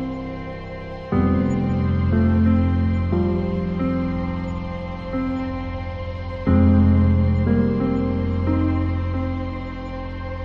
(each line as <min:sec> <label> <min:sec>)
0:00.0 Bass 0:10.4
0:00.0 String 0:10.4